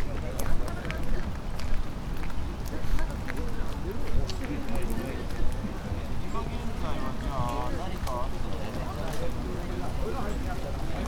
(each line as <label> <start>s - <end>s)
group of Japanese tourists 0.0s - 11.0s